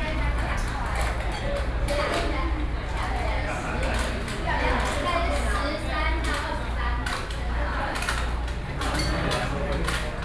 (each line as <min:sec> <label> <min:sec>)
0:00.0 Noisy restaurant 0:10.2